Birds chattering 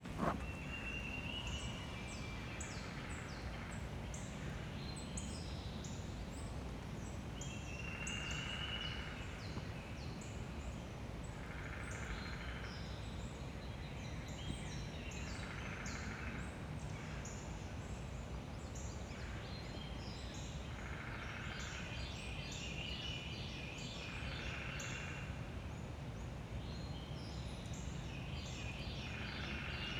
0.0s 4.0s

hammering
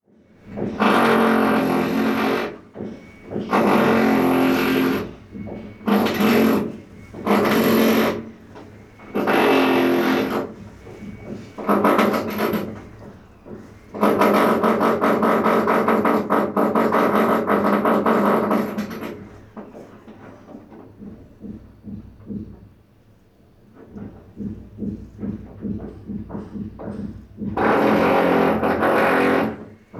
0.5s 8.3s, 23.9s 29.9s

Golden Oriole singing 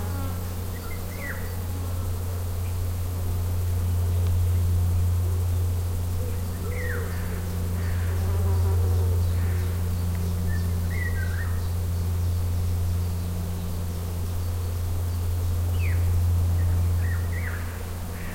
6.3s 7.9s, 8.5s 18.3s

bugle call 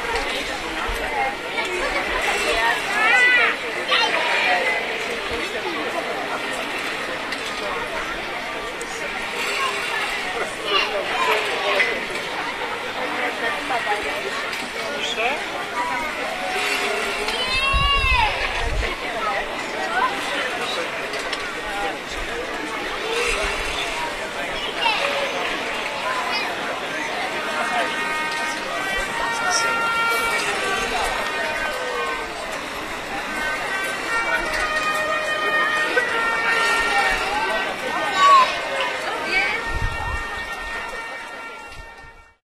27.6s 42.3s

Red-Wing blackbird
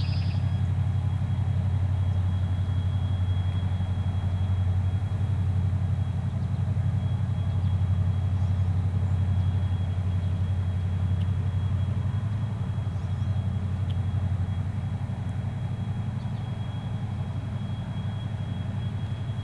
0.0s 0.6s

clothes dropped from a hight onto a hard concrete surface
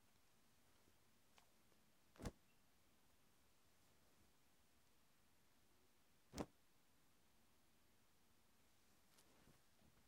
2.2s 2.4s

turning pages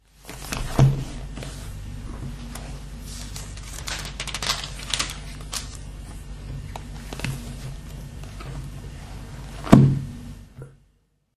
2.4s 8.6s

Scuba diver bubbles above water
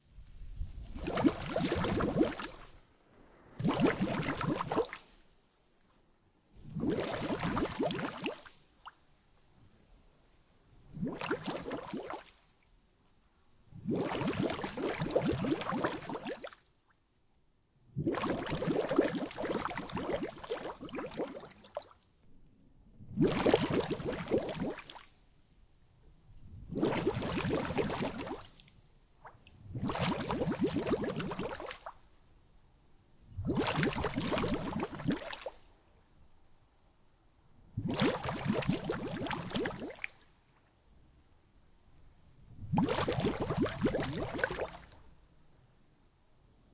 0.8s 2.7s, 3.6s 5.0s, 6.6s 8.4s, 10.9s 12.2s, 13.8s 16.4s, 18.0s 21.6s, 23.1s 24.9s, 26.6s 28.4s, 29.7s 31.8s, 33.4s 35.4s, 37.8s 40.1s, 42.6s 44.8s

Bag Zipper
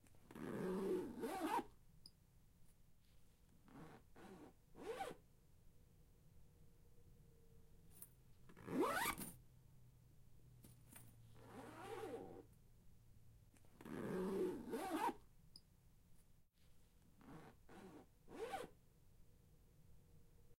0.3s 1.7s, 3.7s 5.2s, 8.6s 9.3s, 11.4s 12.4s, 13.8s 15.2s, 17.2s 18.7s

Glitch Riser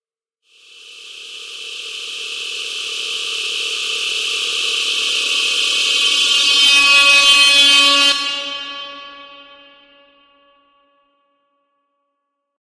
0.7s 8.7s

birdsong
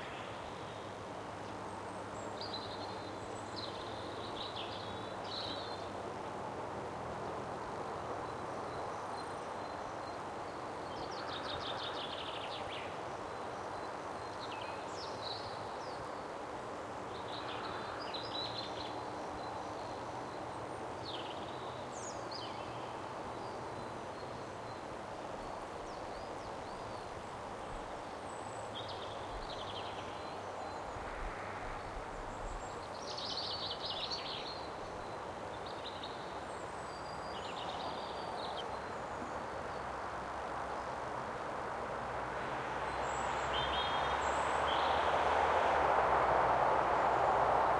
17.1s 40.0s

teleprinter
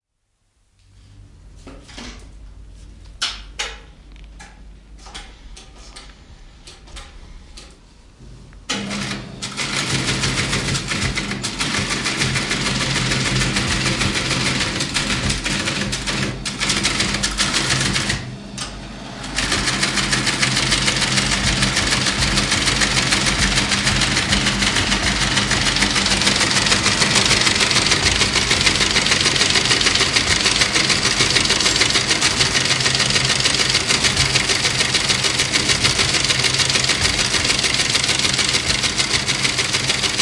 8.7s 40.2s

